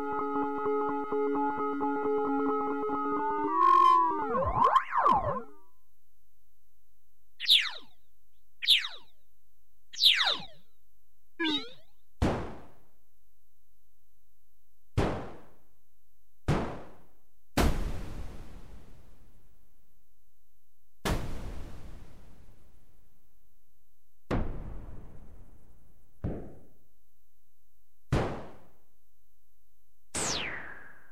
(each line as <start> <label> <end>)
2.8 miscellaneous scifi effects 5.6
7.4 miscellaneous scifi effects 8.0
8.6 miscellaneous scifi effects 9.1
10.0 miscellaneous scifi effects 10.6
11.4 miscellaneous scifi effects 11.9